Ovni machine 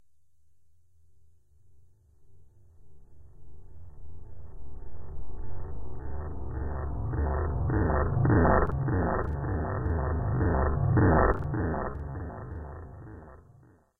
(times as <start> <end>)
6.2 13.5